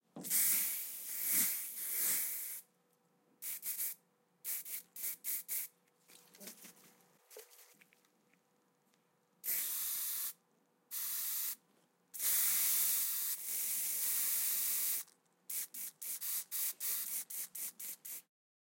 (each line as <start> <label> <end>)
0.2 aerosol can spray 2.6
3.4 aerosol can spray 5.7
9.4 aerosol can spray 11.6
12.2 aerosol can spray 18.3